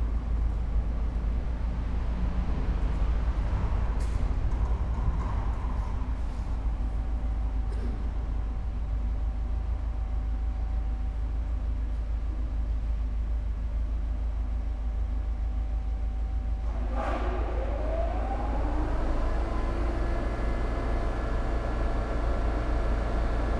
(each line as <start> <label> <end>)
16.6 vehicles 23.5